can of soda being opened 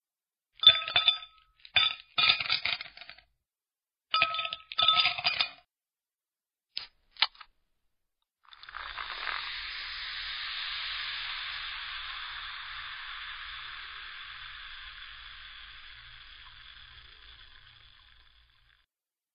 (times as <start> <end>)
8.6 12.0